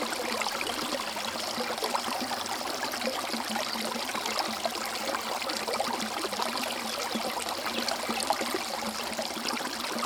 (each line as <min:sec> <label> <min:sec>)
0:00.0 Rjecina river 0:10.0